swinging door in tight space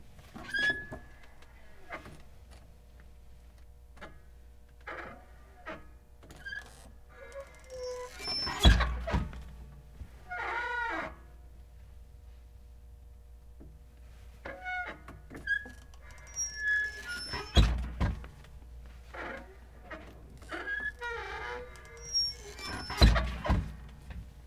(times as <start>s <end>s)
7.4s 9.6s, 14.9s 18.4s, 19.2s 24.3s